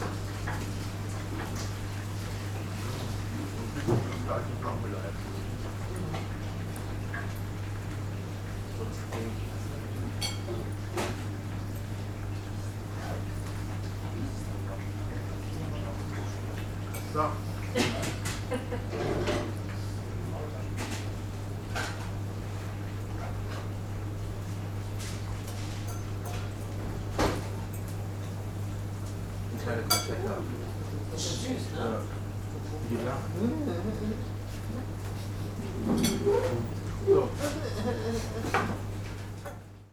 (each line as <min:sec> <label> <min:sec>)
0:00.0 ventilation hum 0:39.9